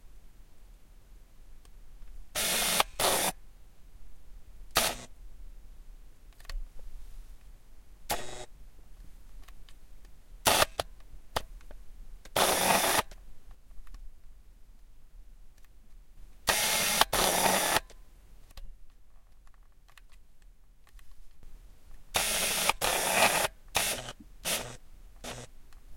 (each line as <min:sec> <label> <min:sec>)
0:02.4 old and clunky auto focus from old Nikon 2020 camera 0:03.3
0:08.1 old and clunky auto focus from old Nikon 2020 camera 0:08.5
0:12.3 old and clunky auto focus from old Nikon 2020 camera 0:13.1
0:16.5 old and clunky auto focus from old Nikon 2020 camera 0:17.9
0:22.2 old and clunky auto focus from old Nikon 2020 camera 0:25.5